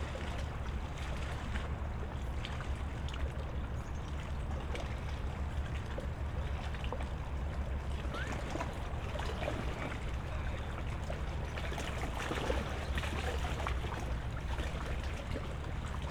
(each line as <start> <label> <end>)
0.0 waves 16.1